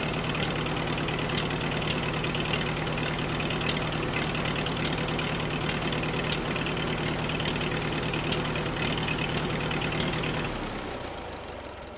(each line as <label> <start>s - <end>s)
Old Tractor Starting 0.0s - 11.9s